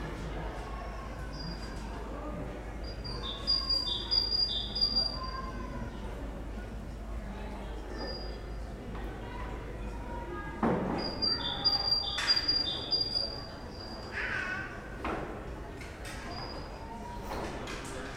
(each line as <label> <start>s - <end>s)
tenants 0.0s - 15.0s
distant city noise 0.0s - 18.1s
birds 2.8s - 5.5s
birds 11.0s - 14.6s